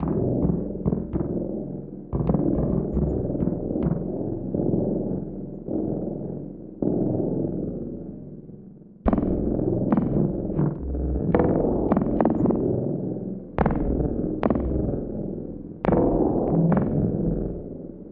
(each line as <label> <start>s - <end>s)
Bassdrum 0.0s - 5.0s
Bassdrum 9.1s - 17.8s